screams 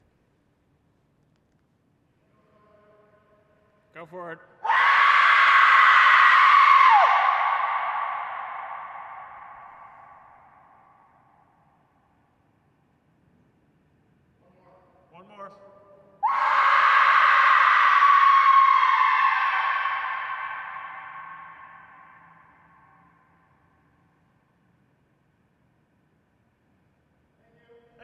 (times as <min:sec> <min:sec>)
0:04.6 0:11.3, 0:16.2 0:23.6